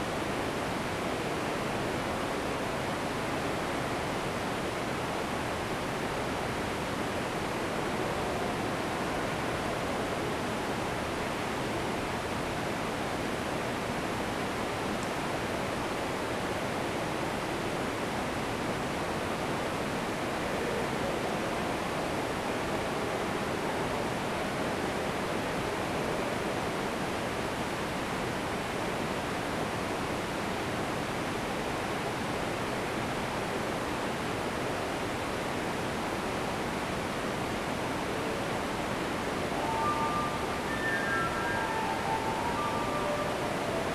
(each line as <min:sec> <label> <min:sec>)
0:39.5 musician plays a fulte underground 0:43.9